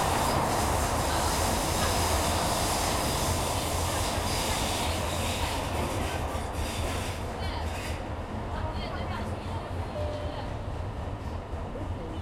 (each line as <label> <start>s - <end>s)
subway metro train 0.0s - 12.2s